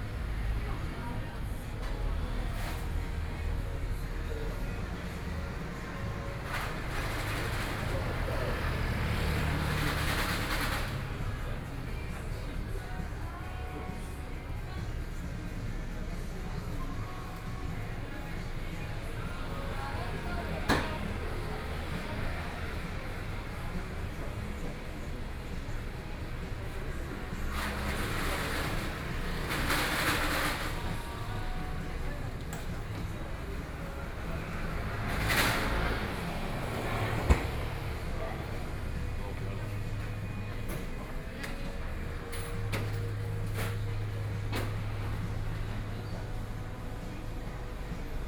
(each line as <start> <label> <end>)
0.0 Traffic Sound 48.2
0.0 shops voices 48.2